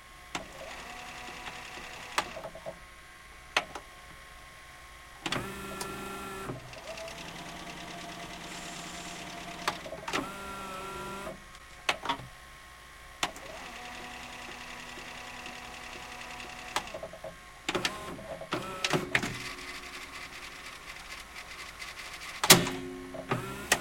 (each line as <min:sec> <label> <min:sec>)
0:00.3 mechanical clicks and whirrs from playing, rewinding VHS 0:02.8
0:05.2 mechanical clicks and whirrs from playing, rewinding VHS 0:12.2
0:13.2 mechanical clicks and whirrs from playing, rewinding VHS 0:23.8